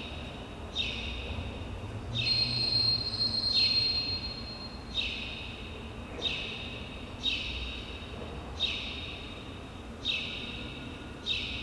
motion sensor beep 2.2 - 5.2

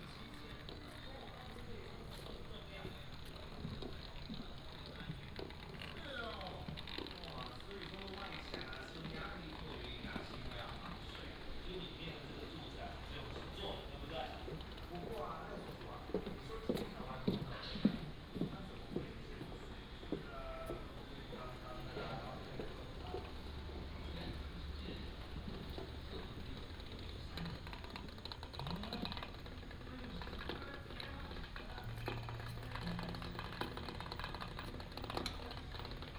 walking 0.0 - 35.9

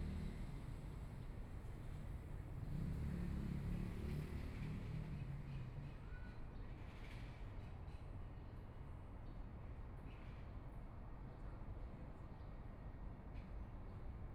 Traffic Sound 0.0 - 5.8

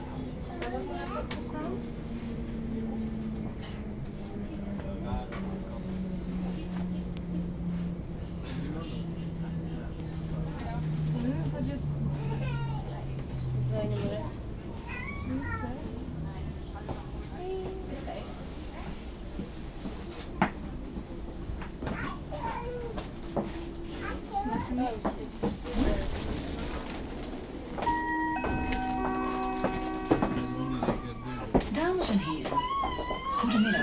Sprinter train 0.0 - 33.8

